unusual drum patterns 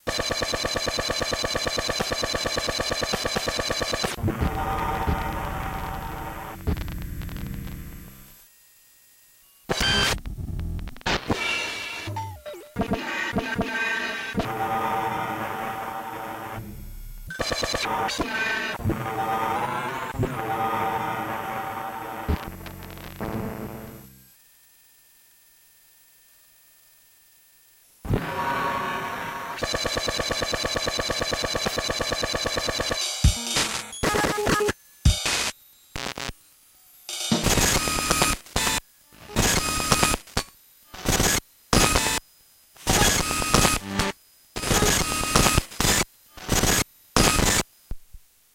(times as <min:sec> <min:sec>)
0:33.0 0:35.4, 0:37.1 0:37.6